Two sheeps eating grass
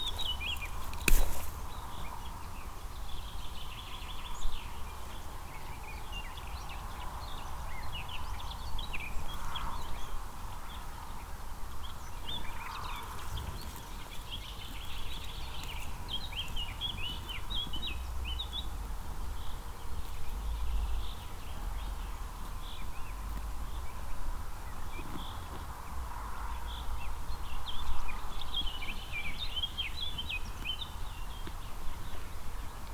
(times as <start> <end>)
10.4 32.9